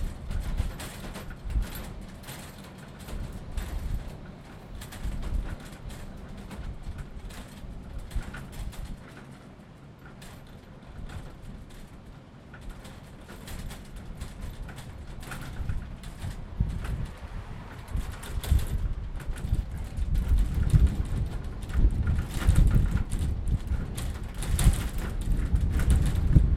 perspex windows rattling against metal frames 0:00.0 - 0:26.5
wind 0:00.0 - 0:26.5

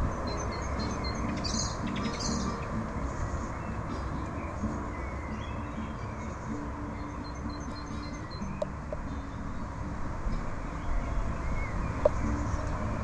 birds 0:00.0 - 0:13.0

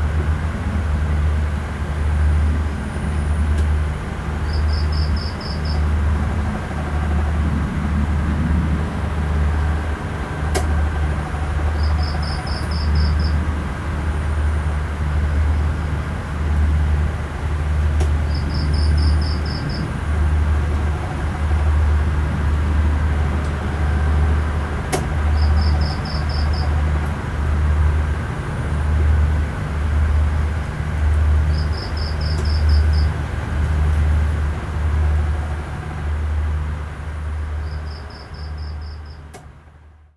distant fishing boat engine 0:00.0 - 0:40.1
cicada 0:04.4 - 0:05.9
fan 0:05.8 - 0:37.6
cicada 0:11.7 - 0:13.4
cicada 0:18.2 - 0:20.0
cicada 0:25.3 - 0:26.8
cicada 0:31.5 - 0:33.2
cicada 0:37.6 - 0:39.3

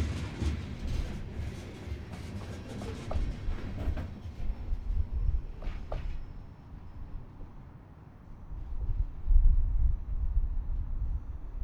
Freight Train Eastbound 0:00.0 - 0:11.6

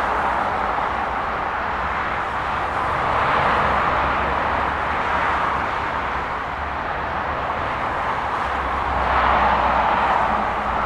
Vehicles climbing the hill and crossing the road 0:00.0 - 0:10.8

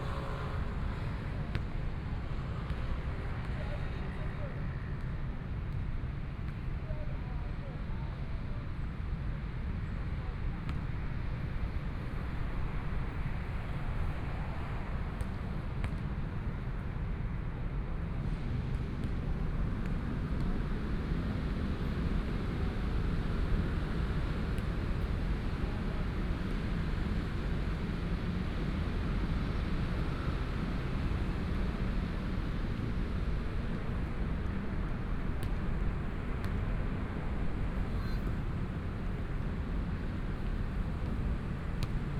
Traffic Sound 0:00.0 - 0:04.2
walking in the Street 0:18.2 - 0:42.1
Traffic Sound 0:20.7 - 0:42.1

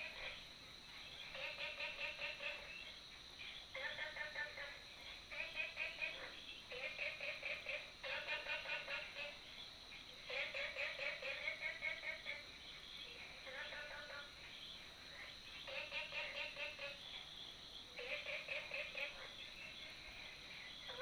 Frogs sound 0:00.0 - 0:21.0

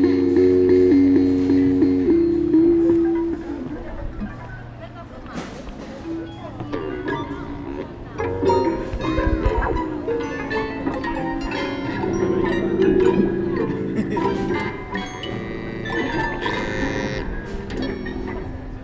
Klangstäbe-Installation 0:05.2 - 0:18.8

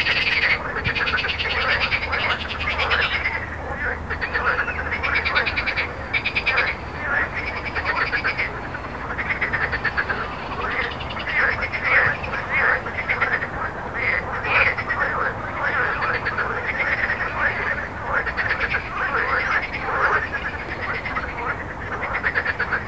Frog 0:00.0 - 0:22.8
road 0:00.0 - 0:22.8

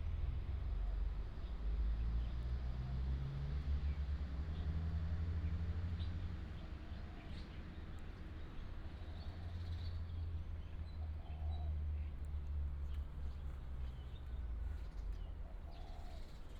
birds 0:13.9 - 0:16.5

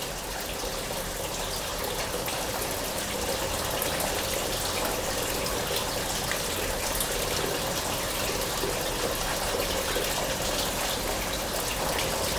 Water oozes from the walls everywhere and fall in tubes 0:00.0 - 0:12.3

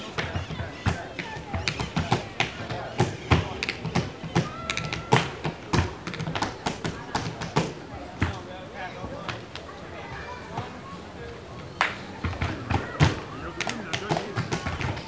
Tap dancing in the park 0:00.0 - 0:10.8
Tap dancing in the park 0:11.6 - 0:15.0

